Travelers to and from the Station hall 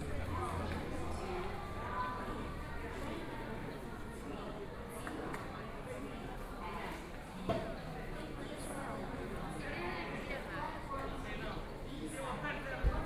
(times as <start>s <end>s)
0.0s 7.1s